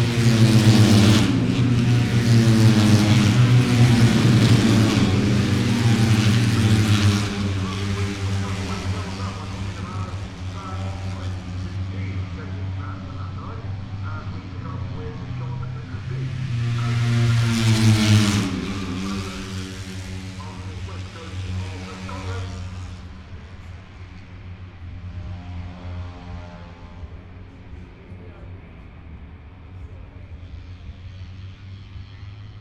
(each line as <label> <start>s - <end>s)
motorcycle grand prix 0.0s - 32.6s
commentary 0.1s - 24.3s